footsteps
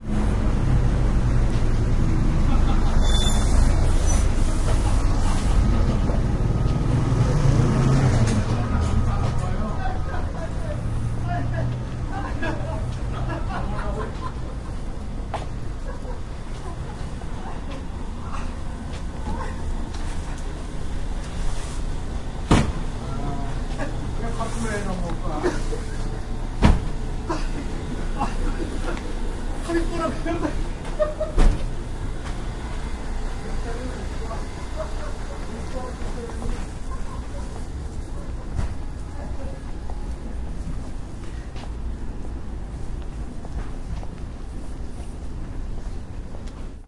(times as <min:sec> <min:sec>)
0:35.3 0:46.8